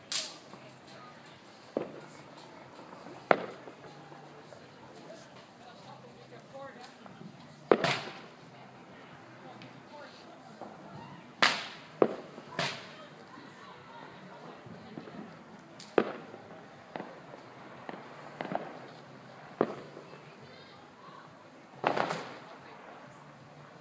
fireworks 0:00.0 - 0:05.5
cars passing by 0:00.0 - 0:23.8
fireworks 0:06.8 - 0:08.4
fireworks 0:10.6 - 0:13.5
fireworks 0:14.2 - 0:20.8
fireworks 0:21.7 - 0:23.8

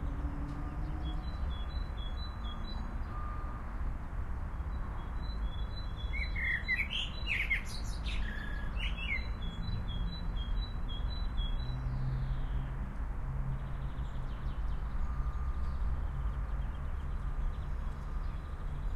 city noises 0:00.0 - 0:18.9
blackbird was singing 0:05.1 - 0:12.4

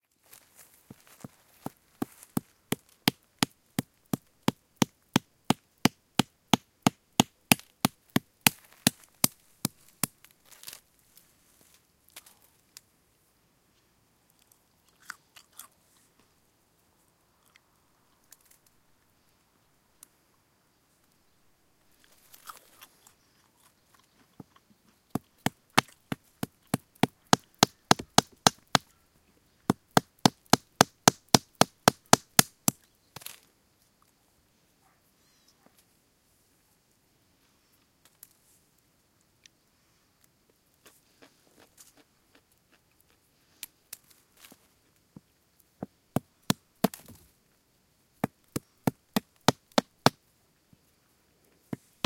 Cracking almonds with a stone 0:02.0 - 0:10.8
eating them 0:14.3 - 0:16.2
Cracking almonds with a stone 0:21.9 - 0:28.9
eating them 0:21.9 - 0:29.0
Cracking almonds with a stone 0:29.7 - 0:33.5
eating them 0:40.8 - 0:44.2

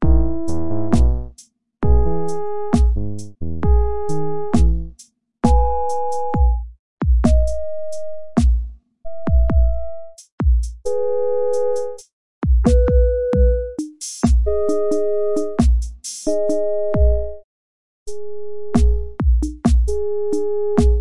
synth 0:00.0 - 0:01.3
drum patterns 0:00.0 - 0:11.0
drum patterns 0:11.6 - 0:17.2
drum patterns 0:18.8 - 0:21.0

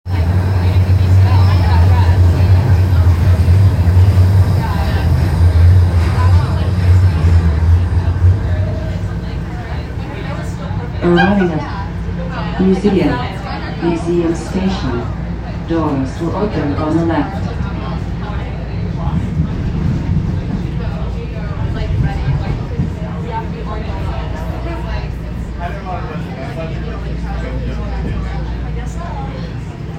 Subway train ride 0:00.0 - 0:29.9
next station announcements 0:00.1 - 0:29.9
voices 0:00.1 - 0:29.9

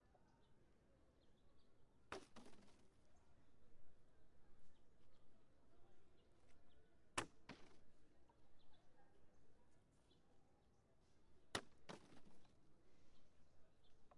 Kicking a plastic bottle around 0:02.1 - 0:02.8
Kicking a plastic bottle around 0:07.2 - 0:07.8
Kicking a plastic bottle around 0:11.6 - 0:12.5

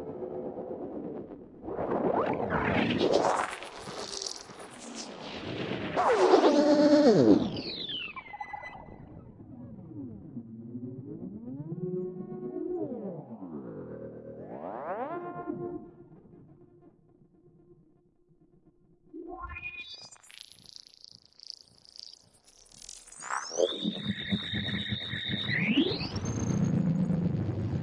drone 0:06.0 - 0:17.3
drone 0:23.4 - 0:27.8

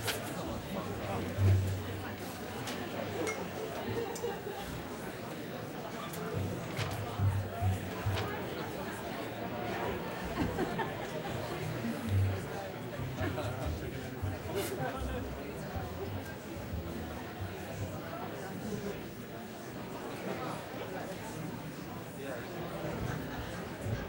audience 0:00.0 - 0:16.4

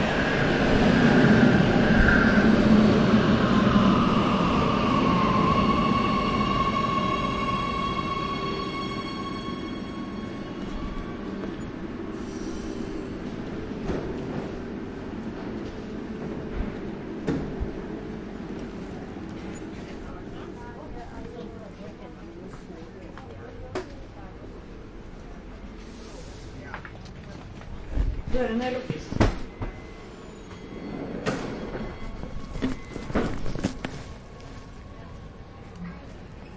Train arrival 0:00.0 - 0:36.5

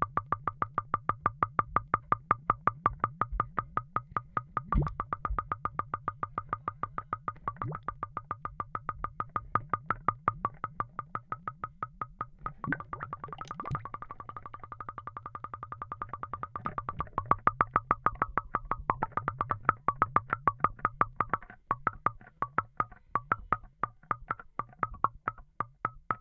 toy bubbling underwater 0:12.4 - 0:21.2

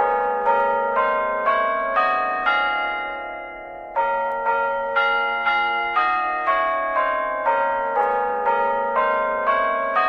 Carillon Bells 0:00.0 - 0:10.0

